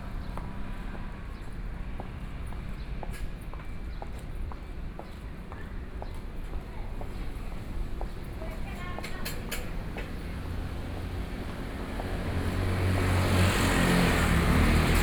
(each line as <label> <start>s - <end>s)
Traffic Sound 0.0s - 15.0s